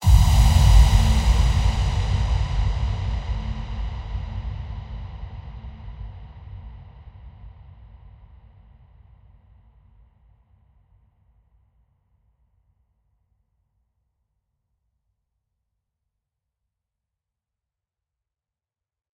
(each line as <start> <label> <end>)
0.0 whoosh 6.2
0.0 impact 6.6